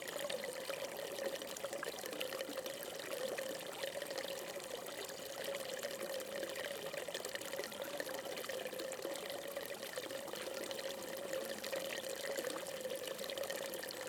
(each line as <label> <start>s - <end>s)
fountain 0.0s - 14.0s